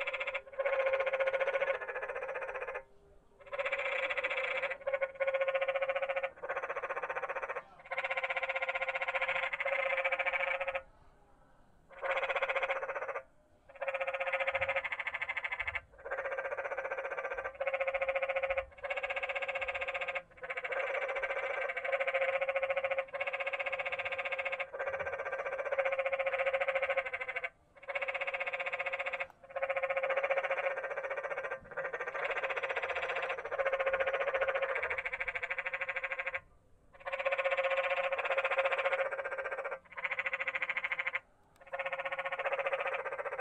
frogs 0.0 - 10.9
frogs 11.9 - 43.4

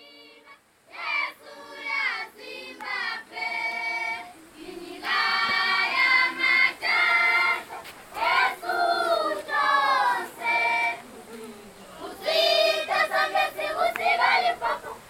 national anthem 0.0 - 15.0

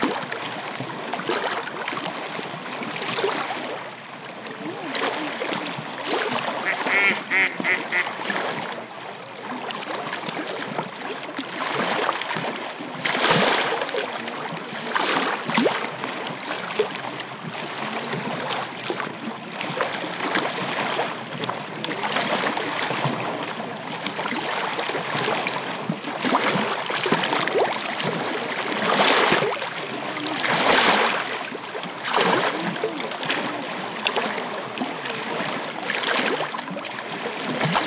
Waves crashing 4.8 - 8.9
duck sounds 6.6 - 8.2
Waves crashing 26.2 - 36.5

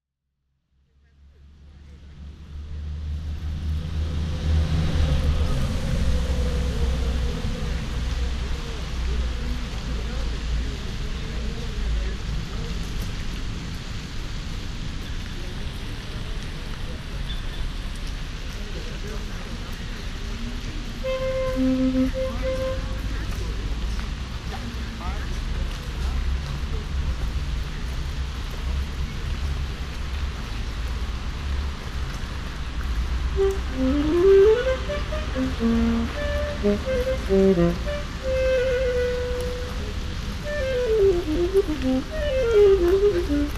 traffic 0.5 - 43.5
pedestrians 0.6 - 43.5
fountain 0.9 - 43.5
windy 0.9 - 43.5
Saxophone player 21.0 - 23.2
Saxophone player 33.3 - 43.5

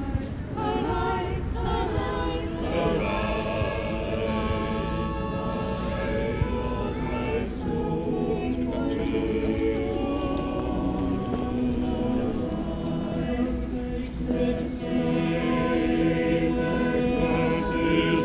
people talking 0.0 - 12.3
choir practicing 0.0 - 18.2
people talking 14.3 - 18.2

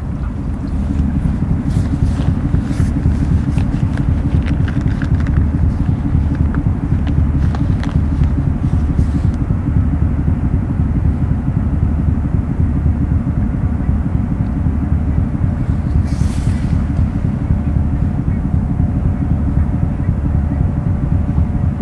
Walking on the pier 0.0 - 9.5
ferry going to Denmark 0.0 - 21.8

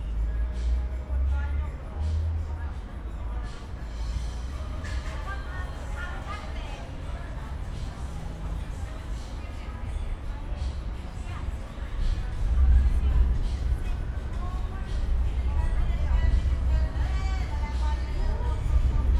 music 0.0 - 19.1
trains passing-by on nearby overpass 0.0 - 19.1
voices 0.0 - 19.1

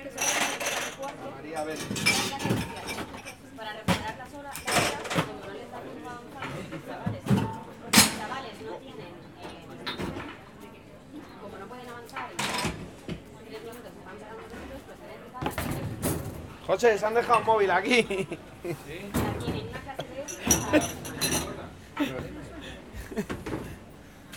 Dish, Glass, and Cutlery noises 0.0 - 5.3
Dish, Glass, and Cutlery noises 9.8 - 10.4
Dish, Glass, and Cutlery noises 20.2 - 21.6
Dishwasher 20.3 - 21.6

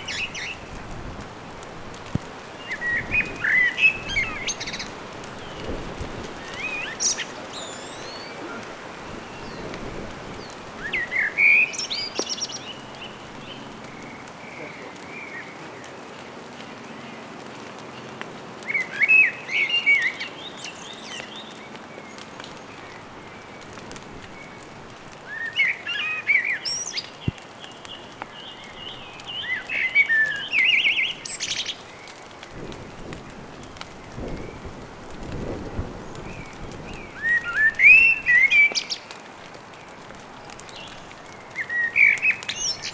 blackbird 2.7 - 5.6
blackbird 6.4 - 9.8
blackbird 10.4 - 15.9
blackbird 36.2 - 39.1
blackbird 40.7 - 42.9

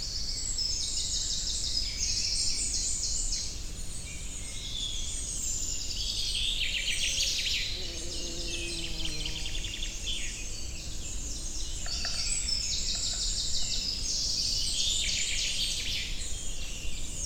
Common Chaffinch 6.6 - 17.2
anxious Great Spotted Woodpecker 11.4 - 15.0

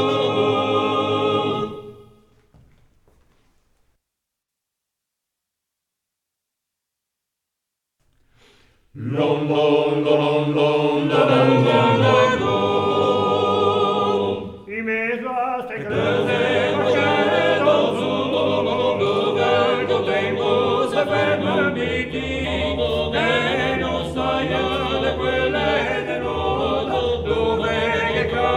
five-voices chant, without instruments 0.0 - 2.3
five-voices chant, without instruments 8.9 - 28.5

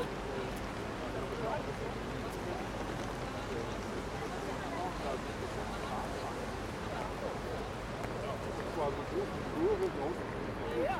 people walking and talking 0.0 - 10.9

